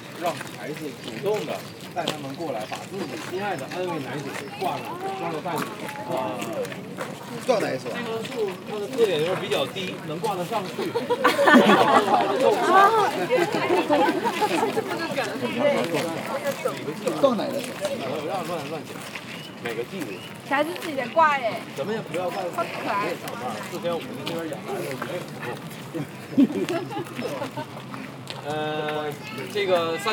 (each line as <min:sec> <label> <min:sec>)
0:00.0 group of Asian tourists 0:30.1